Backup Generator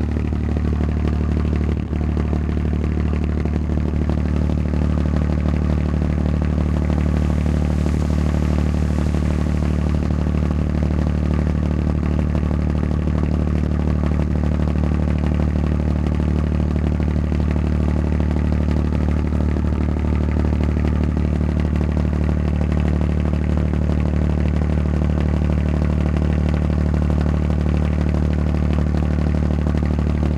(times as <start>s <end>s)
0.0s 0.7s, 3.6s 14.4s